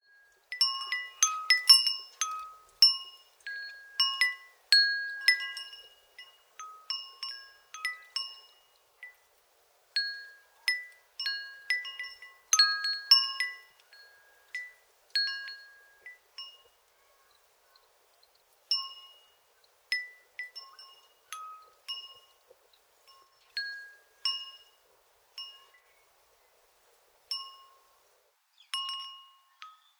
4 element tube wind chime 0:00.1 - 0:09.2

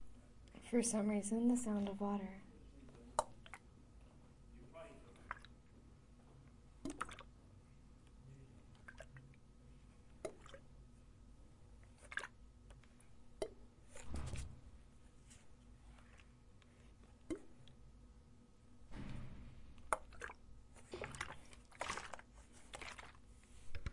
water bottle splashes 0:19.9 - 0:23.2

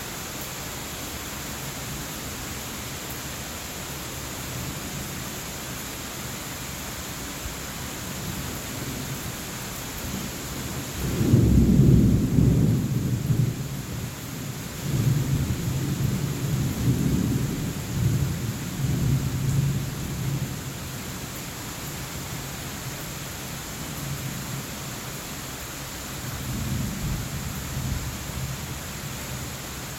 Rain 0:00.0 - 0:29.9
thunder 0:11.0 - 0:13.6

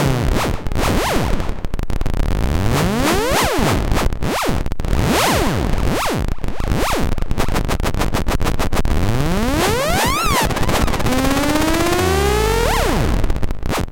modular synth 0:09.0 - 0:13.3

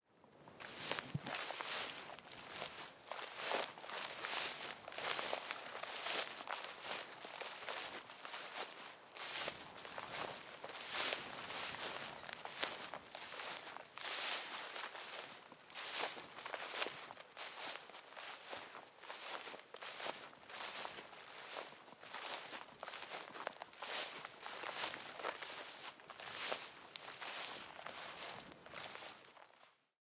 Walking on a gravel path 0:00.3 - 0:29.9

